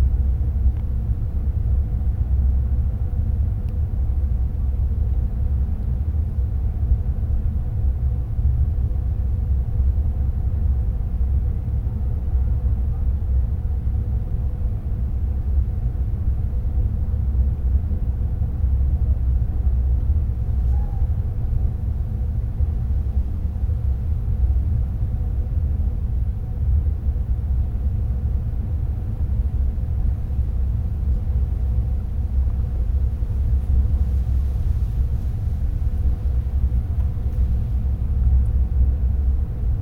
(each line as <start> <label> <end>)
0.0 Hydroelectric Plant Air Conduit Drone 39.8
29.4 rustling of wind in the grass 39.8